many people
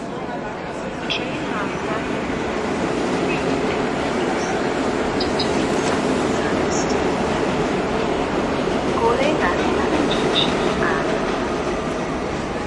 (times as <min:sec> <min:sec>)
0:00.0 0:07.4